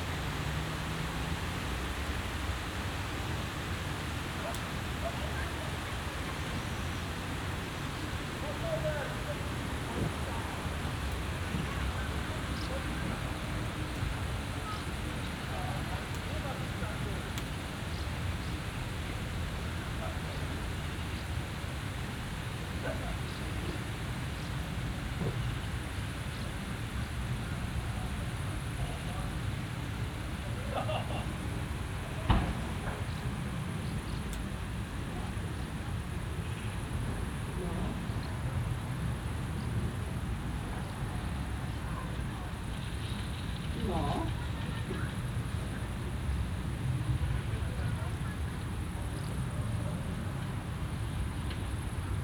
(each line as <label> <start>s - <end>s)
kids playing outside 30.0s - 50.8s
distant shouts 43.7s - 45.1s